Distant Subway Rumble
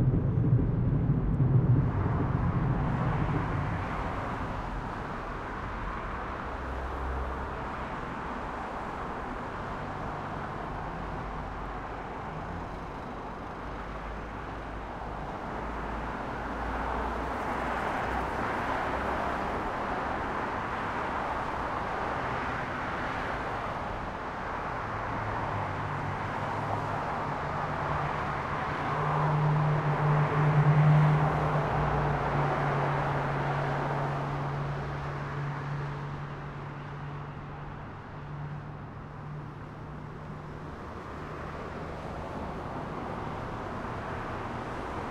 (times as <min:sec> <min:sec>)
0:00.0 0:06.3